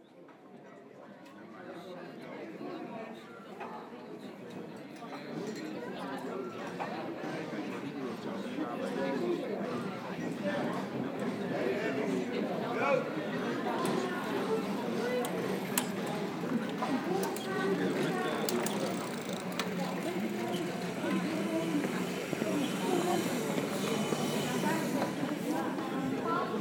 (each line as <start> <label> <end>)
5.4 Lively discussions 26.6